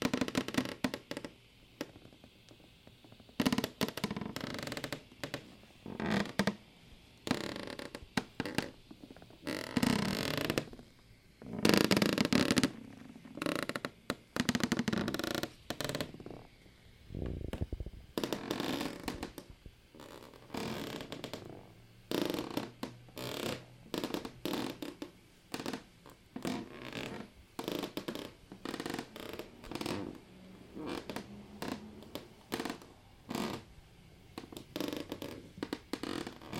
creaking floor boards 7.3 - 10.8
creaking floor boards 11.5 - 16.4
creaking floor boards 17.5 - 25.8
creaking floor boards 26.4 - 33.7
creaking floor boards 34.4 - 36.5

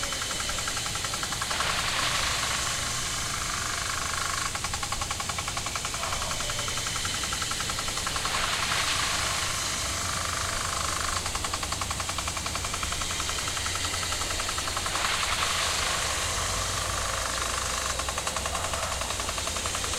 round sprinkler 0.0 - 19.9

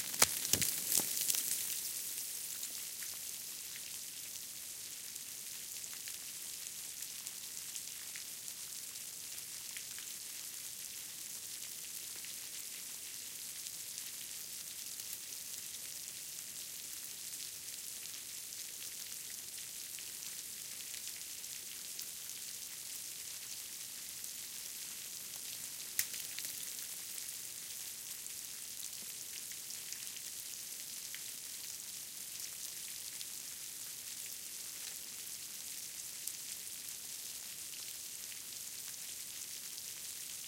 Schmelzwasser 0.0 - 2.0
water 0.0 - 40.4

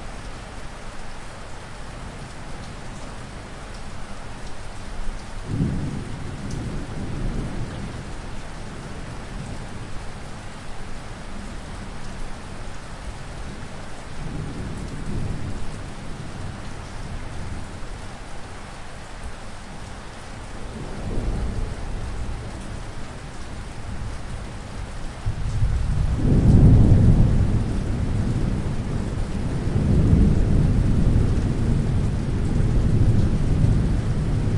Rain 0.0 - 34.5
Thunder 5.4 - 8.1
Thunder 25.2 - 34.5

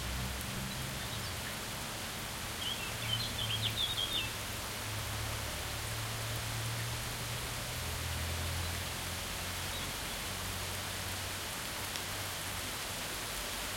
medium intensity rain 0.0 - 13.7

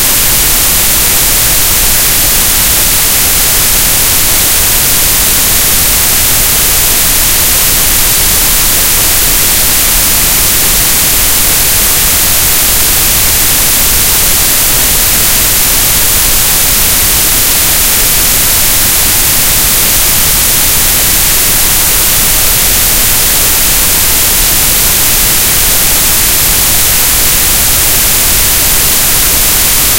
TV-Static-Sound 0.0 - 29.9

